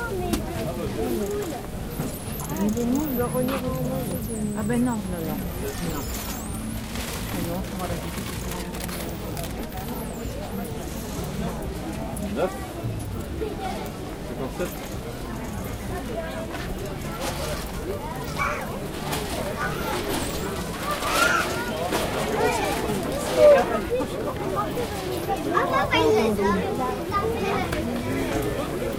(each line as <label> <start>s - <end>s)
Voices 0.0s - 28.9s